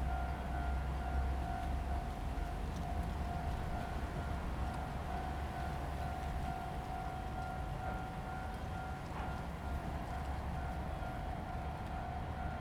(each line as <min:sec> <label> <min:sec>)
0:00.0 The train runs through 0:12.6